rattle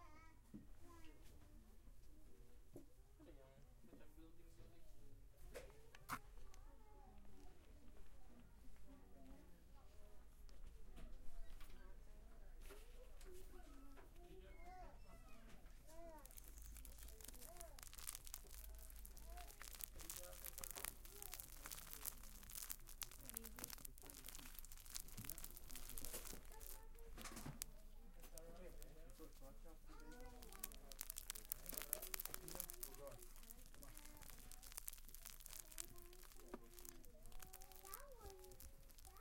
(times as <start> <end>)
16.0 39.2